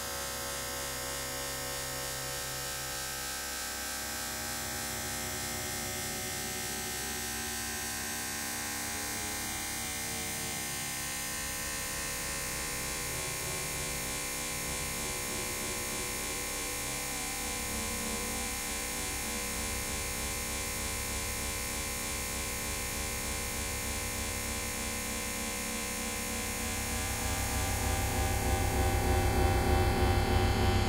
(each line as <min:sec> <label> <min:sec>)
0:12.6 ambient drone washes 0:30.8